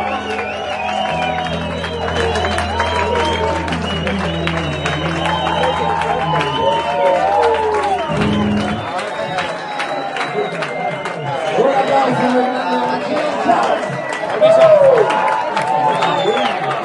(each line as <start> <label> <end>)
0.0 music 11.2
0.0 hand clapping 12.4